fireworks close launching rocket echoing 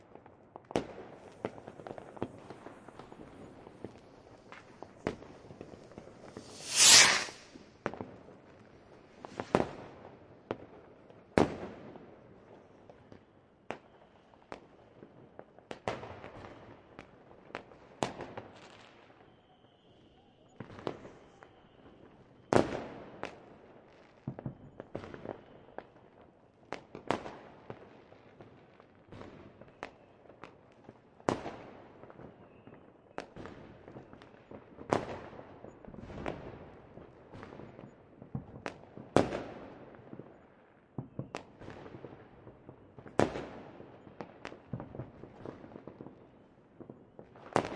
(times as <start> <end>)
2.2 8.0